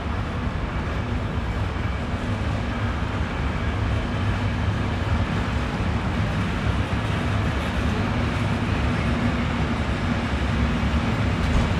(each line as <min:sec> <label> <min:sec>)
0:00.0 freight train departing 0:11.7